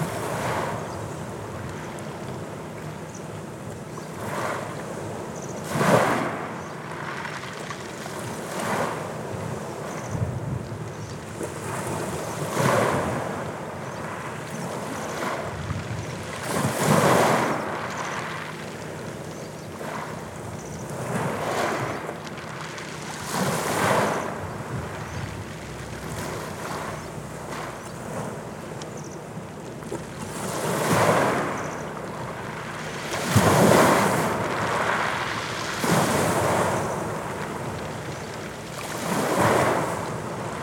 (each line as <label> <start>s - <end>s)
waves washing the beach 0.0s - 40.6s